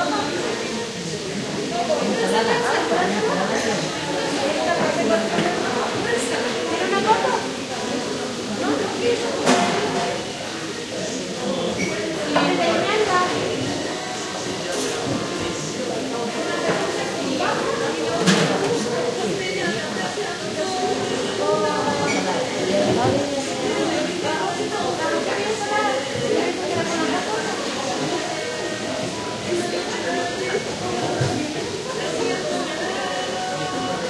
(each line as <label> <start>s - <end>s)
plates being washed 0.0s - 34.0s